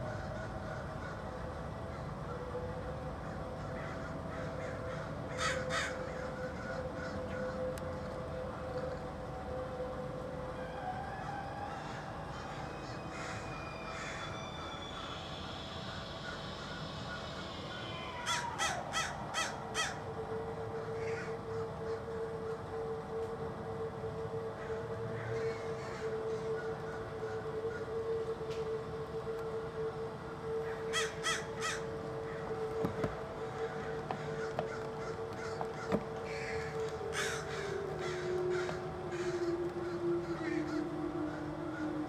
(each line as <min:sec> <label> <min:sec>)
0:03.2 every single crow from hood did gather on walnut tree 0:07.7
0:11.1 every single crow from hood did gather on walnut tree 0:20.1
0:20.8 every single crow from hood did gather on walnut tree 0:22.6
0:24.6 every single crow from hood did gather on walnut tree 0:28.0
0:30.6 every single crow from hood did gather on walnut tree 0:42.0